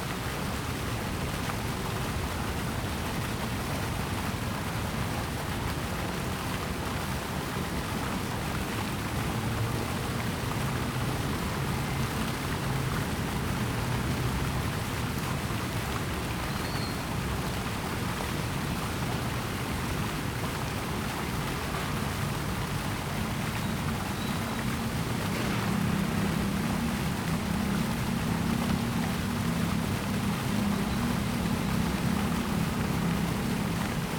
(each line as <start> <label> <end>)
0.0 fountain 34.1
6.6 Waterways 34.1
19.9 Traffic sound 34.1
24.2 Construction sound 34.1